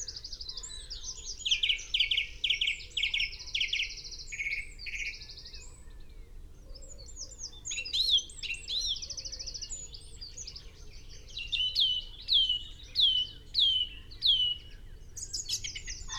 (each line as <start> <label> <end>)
0.0 pheasant 16.1
6.9 willow warbler 16.1
7.2 blue tit 16.1
15.2 red-legged partridge 16.1
15.5 crow 16.1